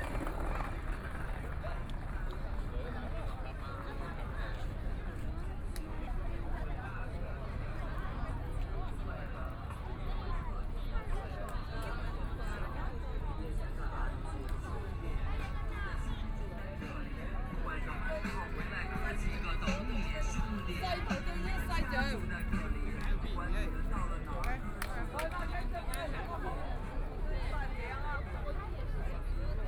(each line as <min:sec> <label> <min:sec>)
0:00.0 Ship in the river 0:29.6
0:00.0 tourists coming and going 0:29.6